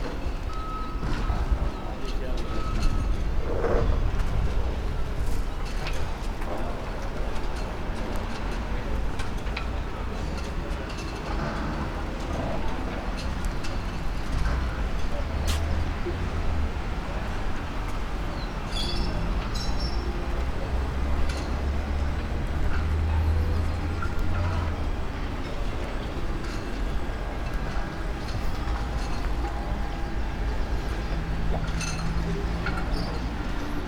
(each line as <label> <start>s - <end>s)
activity in the restaurant 0.0s - 33.8s
roaring engines of old Volvo buses 0.0s - 33.8s
boats squeak and creack when they rub against the jetties 0.0s - 33.8s